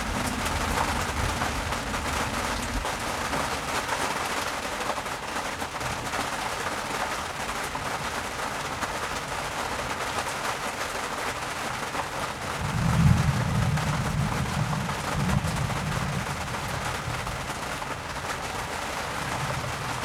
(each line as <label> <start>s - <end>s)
thunderstorm 0.0s - 4.5s
heavy rain hits the tarp 0.0s - 20.0s
thunderstorm 12.4s - 20.0s